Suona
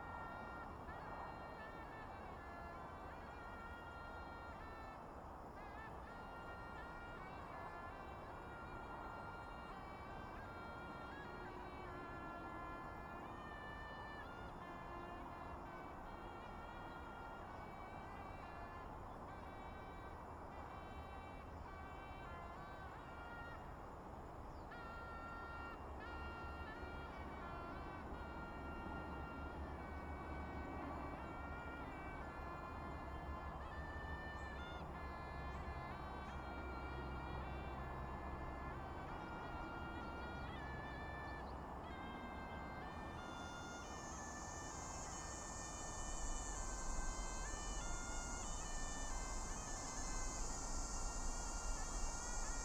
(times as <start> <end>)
24.6 52.6